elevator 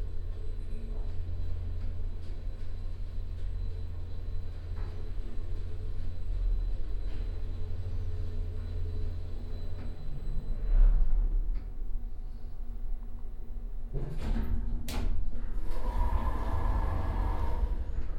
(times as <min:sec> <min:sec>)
0:13.9 0:18.1